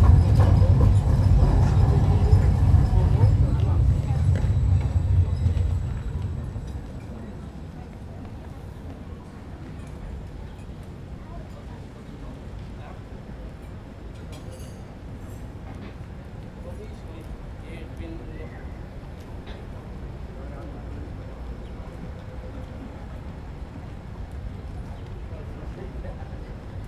0.0s Trams 26.8s

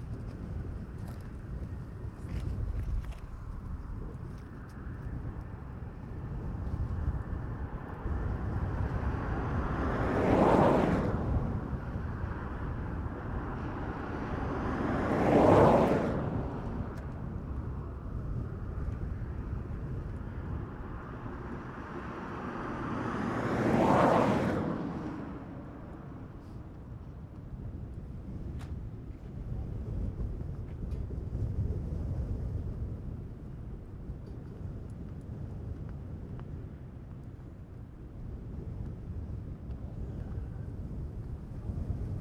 0.0s wind 42.2s

